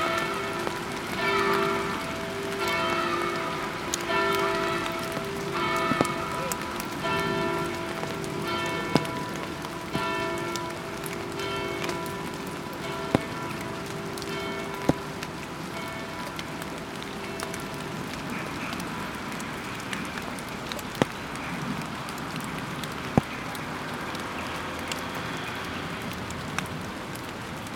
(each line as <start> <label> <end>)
0.0 Bells under the rain 27.7
0.0 Light rain 27.7